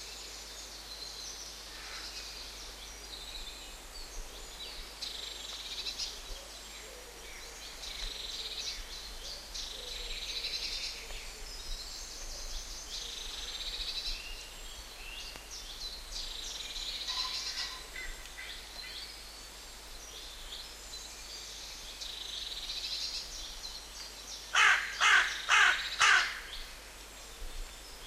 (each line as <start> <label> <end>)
0.0 various other birds 28.0
24.5 crows 26.5
24.5 woodpecker 26.5